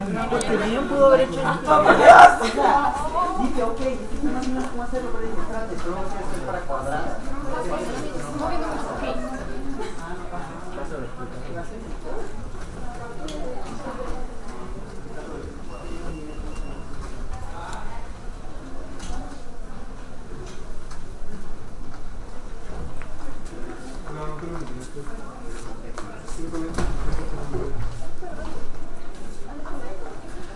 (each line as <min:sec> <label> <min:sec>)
0:00.0 people 0:30.5